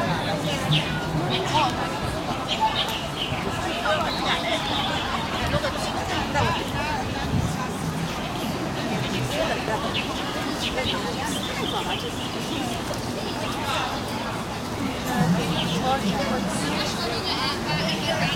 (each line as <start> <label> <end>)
0.0 traffic 18.3